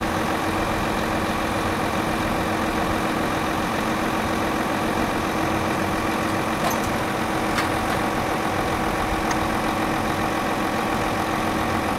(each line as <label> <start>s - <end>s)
excavators digging and loading sand in a truck 0.0s - 11.9s